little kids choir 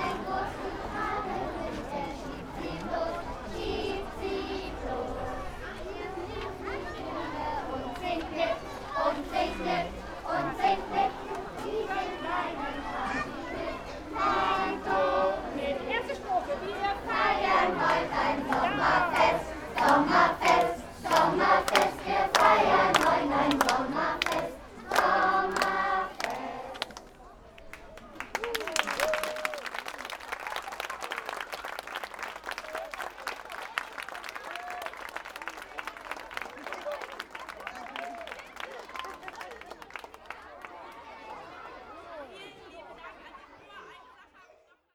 0:00.0 0:26.9

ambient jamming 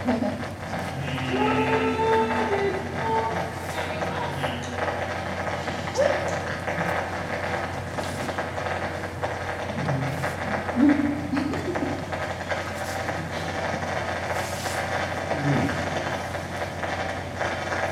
0:00.0 0:14.3

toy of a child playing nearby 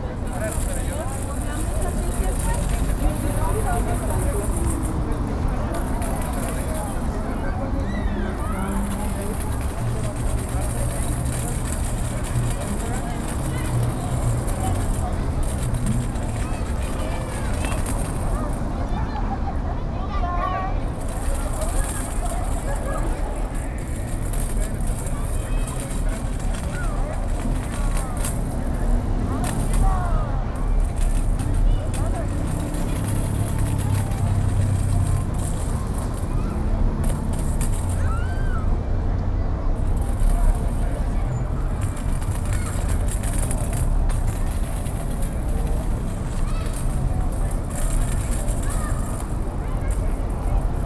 0:20.8 0:38.8, 0:39.8 0:50.8

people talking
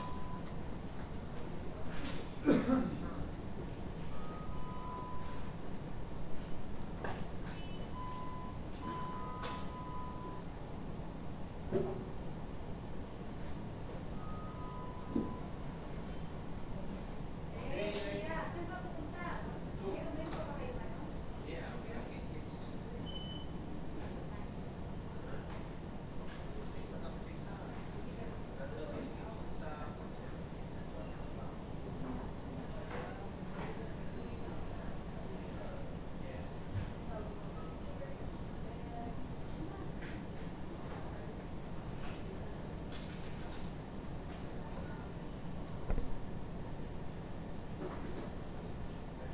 0:16.8 0:23.0

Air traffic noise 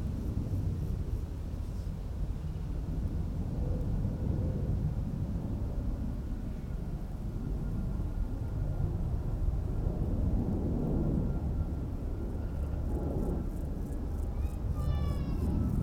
0:08.7 0:15.8

